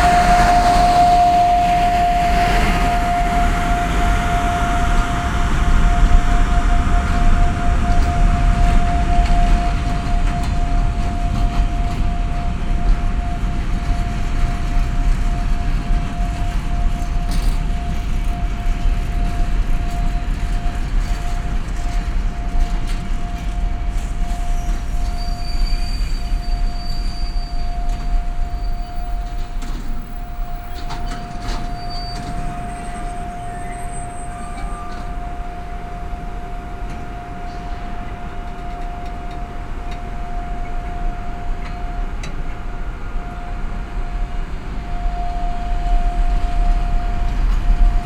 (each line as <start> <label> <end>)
0.0 freight train arrives and stops in front of me 48.0